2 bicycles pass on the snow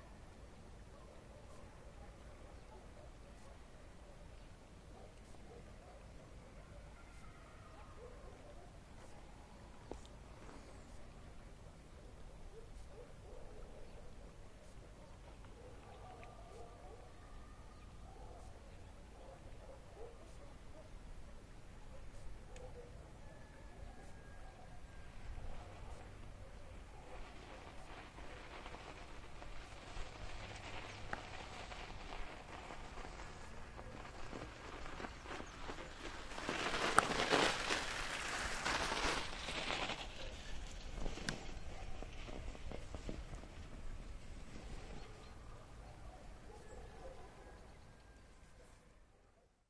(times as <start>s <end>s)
23.4s 48.8s